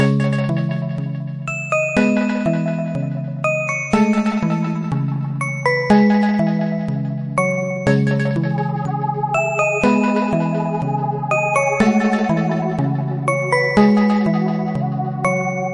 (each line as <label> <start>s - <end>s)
synth 7.9s - 15.7s